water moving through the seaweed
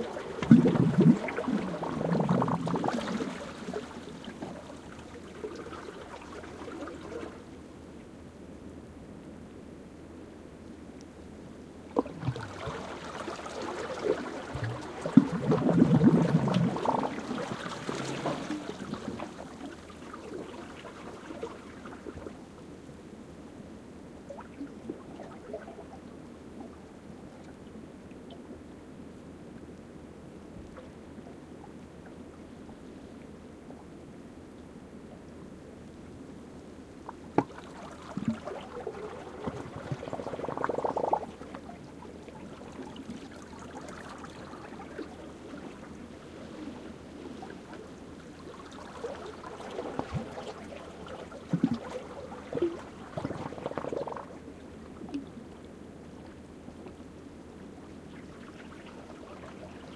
0:00.0 0:07.7, 0:11.9 0:22.8, 0:37.0 0:59.9

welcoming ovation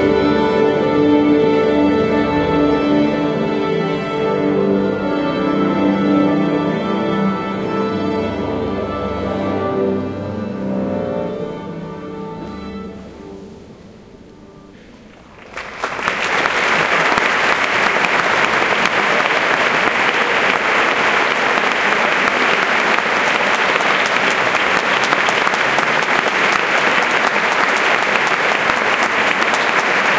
0:15.2 0:30.1

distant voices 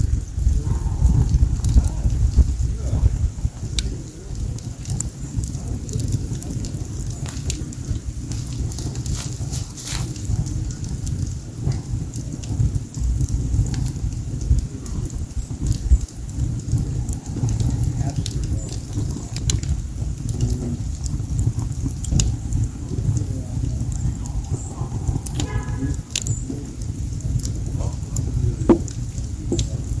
0:22.4 0:30.0

